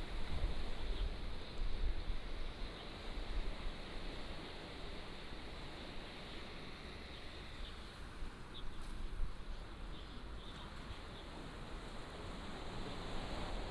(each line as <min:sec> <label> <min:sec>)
0:10.7 waves 0:13.7